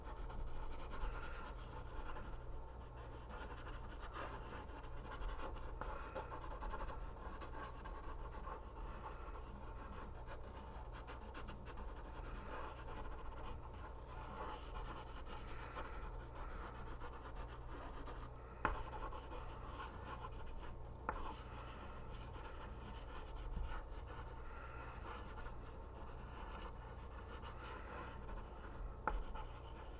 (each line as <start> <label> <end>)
0.0 pencil writing 29.9